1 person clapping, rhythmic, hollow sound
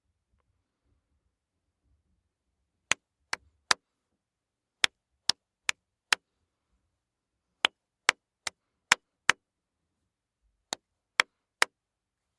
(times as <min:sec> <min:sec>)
0:04.8 0:06.2, 0:07.6 0:09.4, 0:10.7 0:11.8